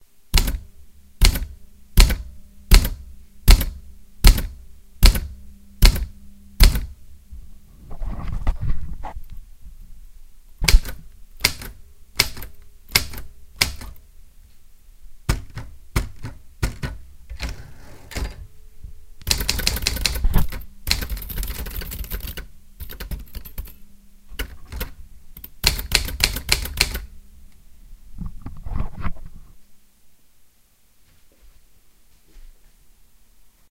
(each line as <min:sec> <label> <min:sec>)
0:00.4 strikes on old typewriter 0:00.6
0:01.2 strikes on old typewriter 0:06.9
0:10.6 strikes on old typewriter 0:14.0
0:15.3 strikes on old typewriter 0:18.4
0:24.4 strikes on old typewriter 0:27.1